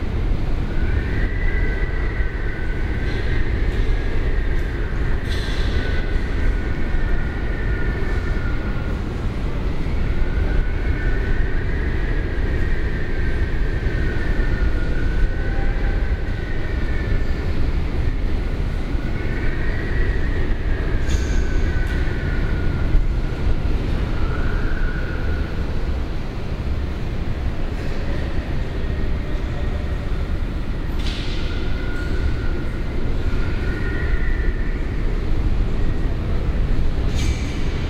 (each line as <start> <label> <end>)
0.0 windy morning in the hall 37.8